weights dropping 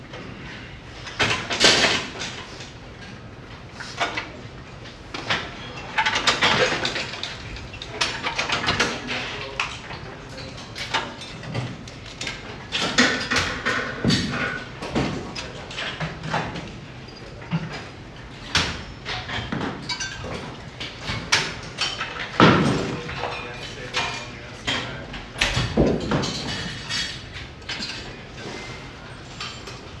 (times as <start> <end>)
18.5 24.2, 25.3 28.6